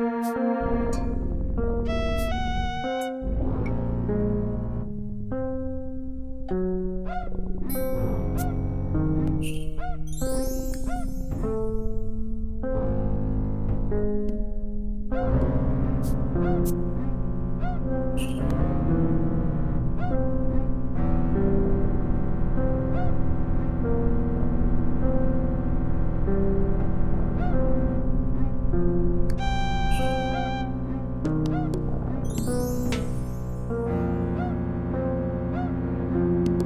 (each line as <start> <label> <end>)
0.0 synthesizer 36.6